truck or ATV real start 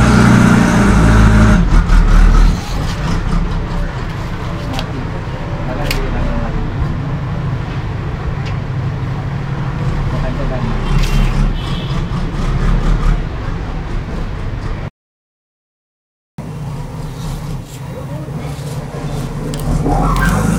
0.0s 5.0s, 19.0s 20.5s

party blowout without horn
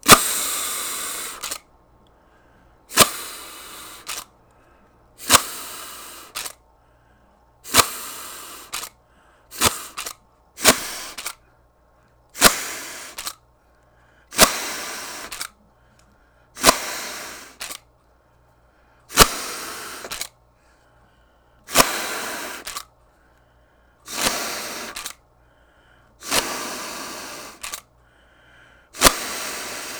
0.0s 1.6s, 5.2s 6.5s

